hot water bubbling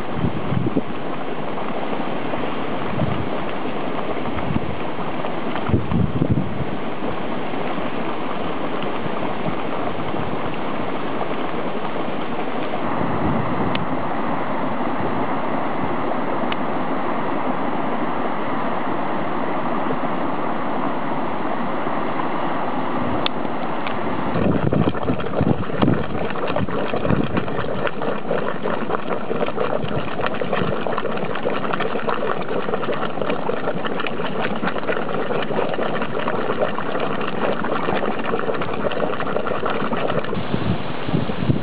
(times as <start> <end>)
0.0 13.0, 23.8 41.0